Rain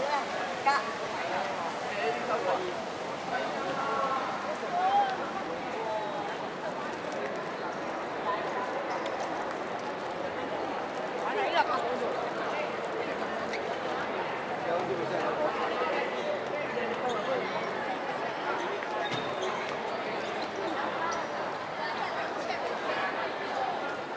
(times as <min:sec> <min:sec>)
0:00.0 0:16.0